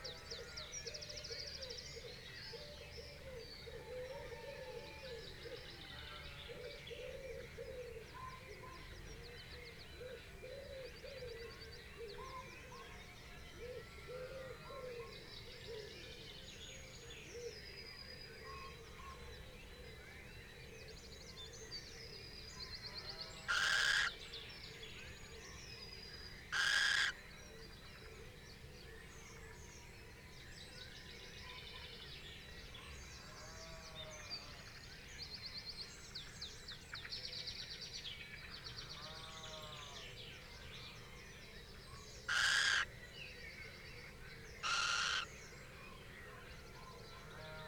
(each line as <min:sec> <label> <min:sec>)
0:23.4 crow 0:24.2
0:23.4 blackbird 0:24.2
0:23.4 pheasant 0:27.8
0:26.5 blackbird 0:27.2
0:26.5 crow 0:27.2
0:38.8 pheasant 0:47.6
0:39.3 blackbird 0:47.1
0:42.2 red-legged partridge 0:42.8
0:42.3 crow 0:42.9
0:42.3 wren 0:42.9
0:44.6 wren 0:45.3
0:44.6 crow 0:45.4